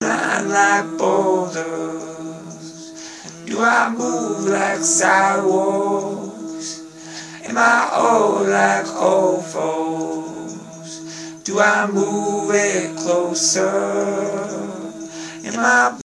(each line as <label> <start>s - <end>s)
Vocals 0.0s - 16.0s
synth 0.0s - 16.0s